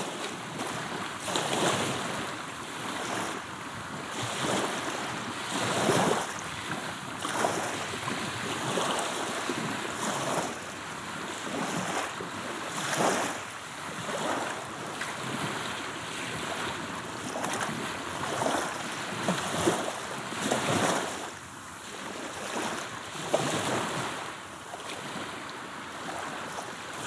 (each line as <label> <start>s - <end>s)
Calm Black Sea 0.0s - 27.0s